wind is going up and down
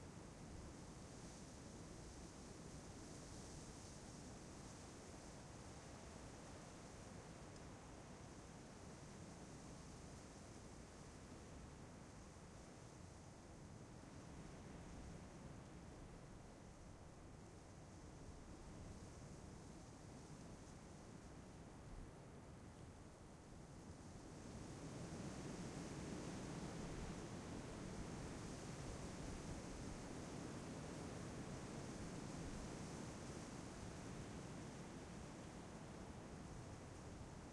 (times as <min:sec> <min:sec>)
0:23.6 0:37.5